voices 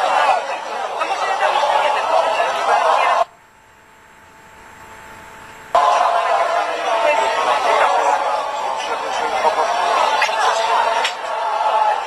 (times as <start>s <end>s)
0.0s 3.3s, 5.8s 12.0s